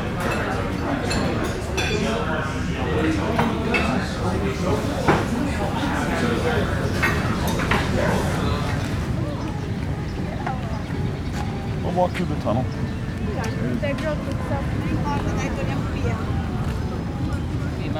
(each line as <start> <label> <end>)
0.0 Street Entertainers 17.9
0.0 Voices 17.9
6.9 brisk walk 17.7